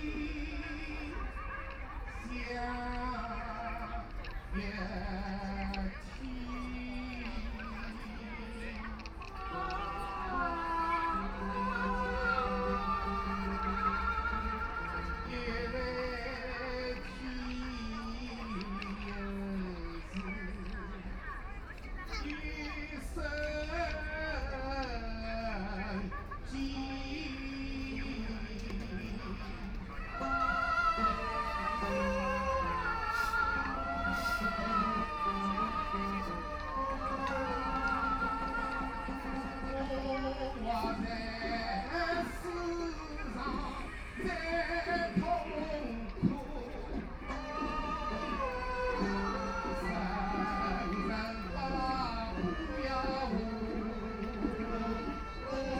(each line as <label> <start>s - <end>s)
Erhu 0.0s - 55.7s
Old people are singing traditional songs 0.0s - 55.7s